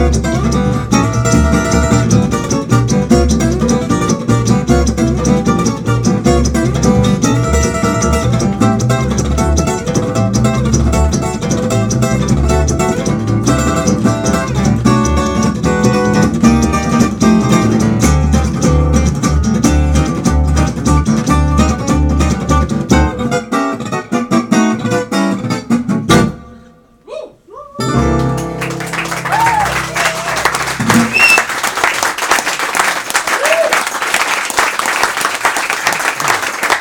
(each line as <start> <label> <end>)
0.0 Rhythmusgitarre 26.4
0.0 Kontrabass 31.8